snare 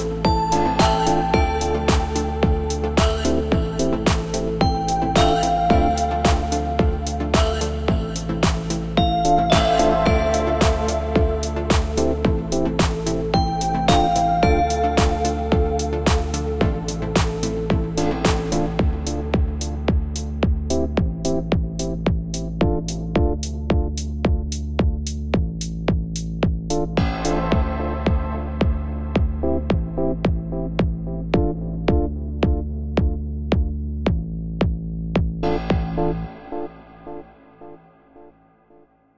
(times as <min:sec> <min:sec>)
0:01.9 0:02.4, 0:03.0 0:04.6, 0:06.2 0:06.8, 0:07.4 0:07.8, 0:08.4 0:13.3, 0:13.9 0:14.2, 0:15.0 0:15.4, 0:16.1 0:16.5, 0:17.2 0:19.8